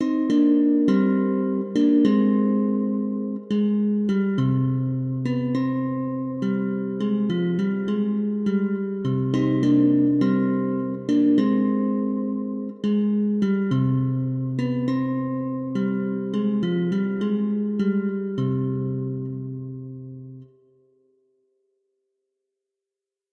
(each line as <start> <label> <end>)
0.0 jazz guitar 20.4